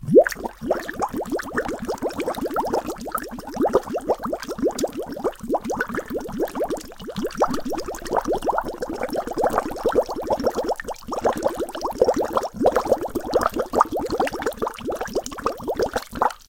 0.0s bubbling 16.4s

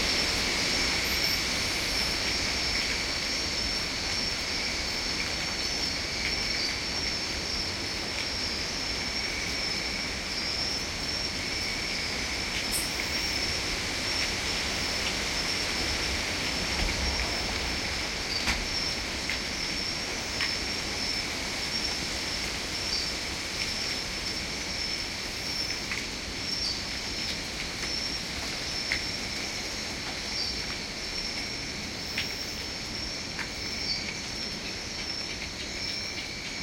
0.0s Many crickets 36.6s
0.0s Slight jets of water that remain after the rain 36.6s
0.0s Wind through trees 36.6s

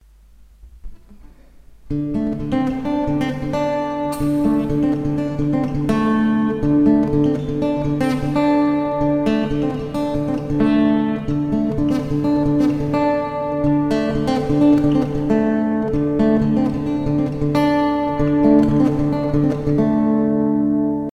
0.6s Acoustic guitar 21.1s

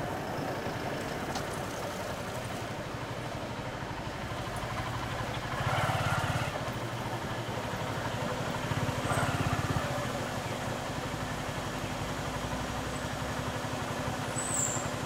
0.0s Engine 15.0s
0.0s Traffic 15.0s
0.0s motorcycles 15.0s
0.0s truck 15.0s

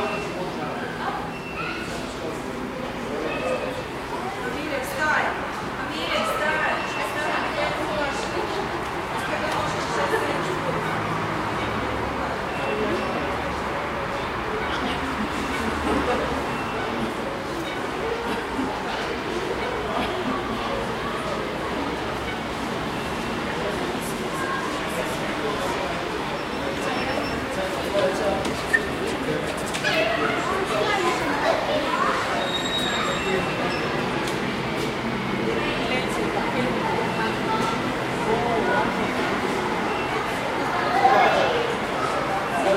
0.0s General conversation 42.7s

